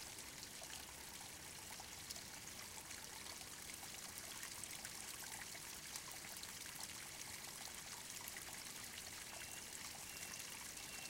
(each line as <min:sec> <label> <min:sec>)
0:00.0 small forest stream 0:11.0